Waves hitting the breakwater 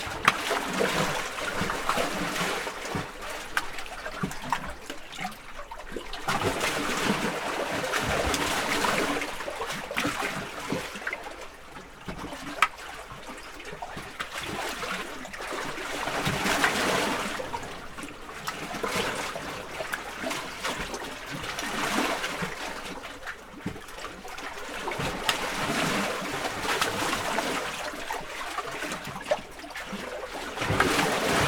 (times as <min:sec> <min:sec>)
0:30.4 0:31.4